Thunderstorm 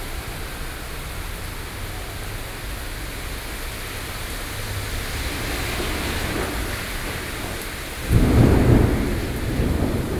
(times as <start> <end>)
4.1 10.1